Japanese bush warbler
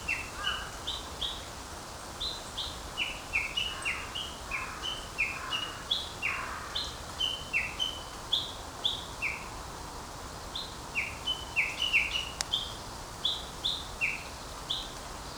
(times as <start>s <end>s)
10.5s 15.3s